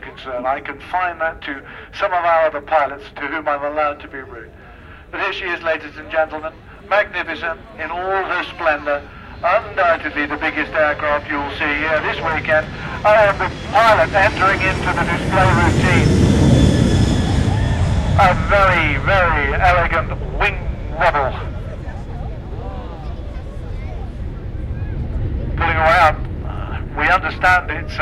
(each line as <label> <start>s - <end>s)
two old duffers doing the commentary 0.0s - 4.5s
passenger jet to do a couple of low passes 0.0s - 28.0s
two old duffers doing the commentary 5.1s - 16.2s
two old duffers doing the commentary 18.2s - 21.5s
two old duffers doing the commentary 25.6s - 28.0s